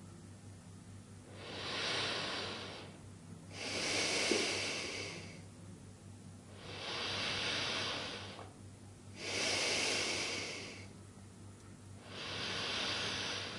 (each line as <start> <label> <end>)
1.3 breathing 5.5
6.5 breathing 8.5
9.2 breathing 11.0
12.0 breathing 13.5